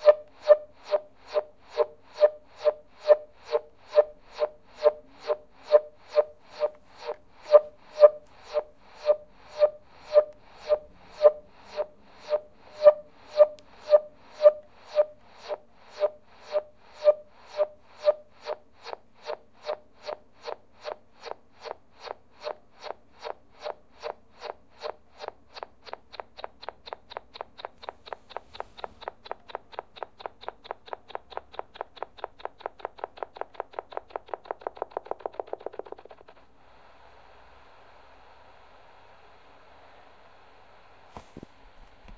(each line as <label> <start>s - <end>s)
Shortwave radio static 0.0s - 25.3s
Shortwave radio static 36.2s - 41.5s